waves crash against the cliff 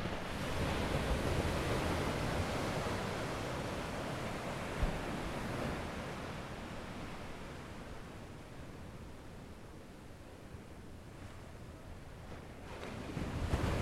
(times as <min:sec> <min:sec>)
0:00.0 0:07.7, 0:12.3 0:13.8